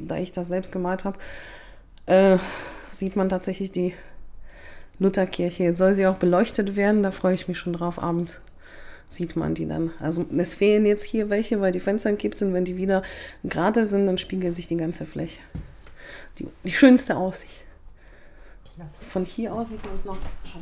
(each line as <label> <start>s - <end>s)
guided tour 13.5s - 20.6s